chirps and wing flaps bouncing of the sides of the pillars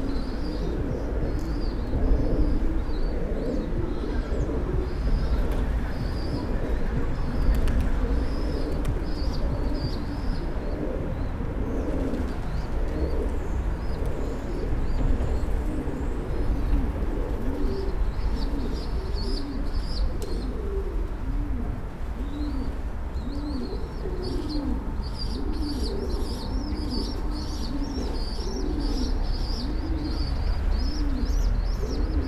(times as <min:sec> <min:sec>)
0:05.3 0:10.2